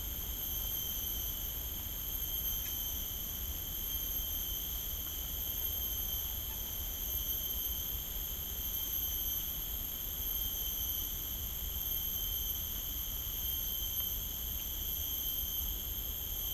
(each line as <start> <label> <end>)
0.0 Very loud cicadas 16.5